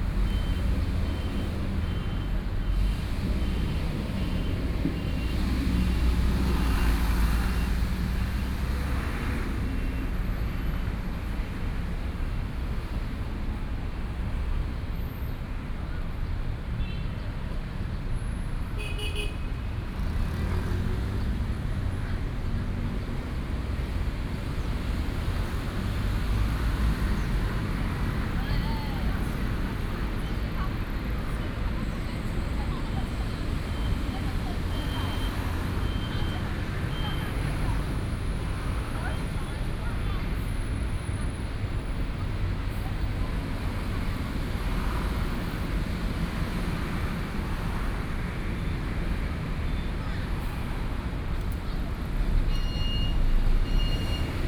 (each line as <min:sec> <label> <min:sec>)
0:00.0 Traffic Sound 0:54.4